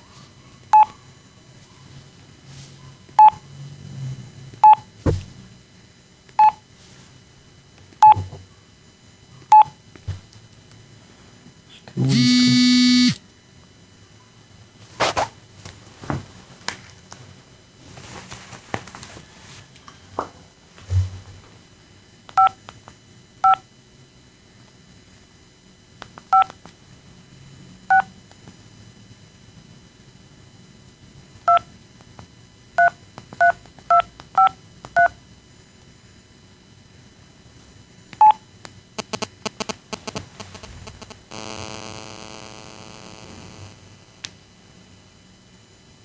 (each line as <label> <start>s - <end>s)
interference 12.0s - 13.2s
interference 39.0s - 44.4s